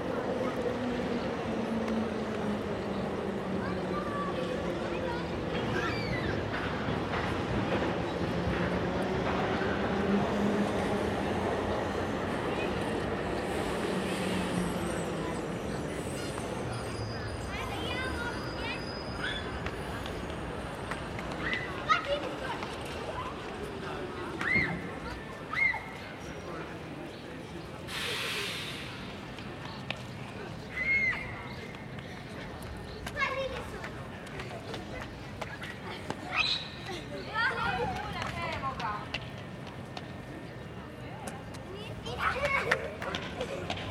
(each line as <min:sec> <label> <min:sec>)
0:00.0 trams 0:43.9
0:02.8 children 0:09.5
0:14.4 children 0:26.2
0:30.4 children 0:39.3
0:41.5 children 0:43.9